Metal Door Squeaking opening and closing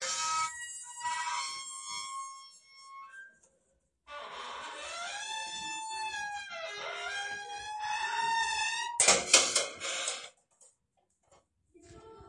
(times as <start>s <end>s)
4.1s 10.3s